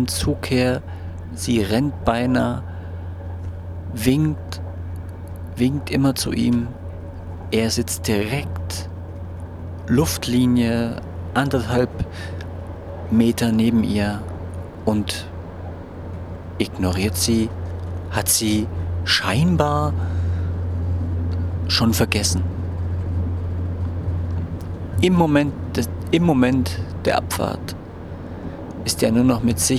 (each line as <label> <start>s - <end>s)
On the train 0.0s - 29.7s